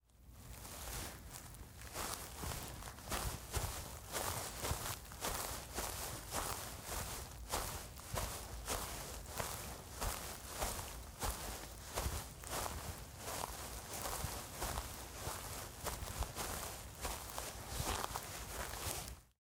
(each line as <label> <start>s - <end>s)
Footsteps Grass 0.3s - 19.3s